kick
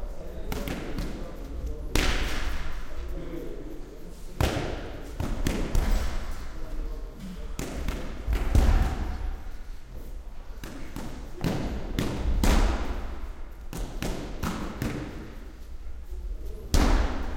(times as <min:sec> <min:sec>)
0:07.6 0:09.4